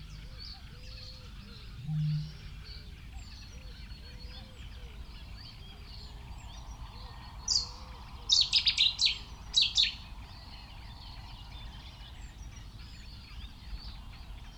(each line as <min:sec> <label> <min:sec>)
0:00.0 cuckoo 0:05.1
0:00.0 background noise 0:14.5
0:00.0 blackbird 0:14.5
0:00.0 reed warbler 0:14.5
0:01.4 reed bunting 0:03.0
0:01.8 bittern 0:02.6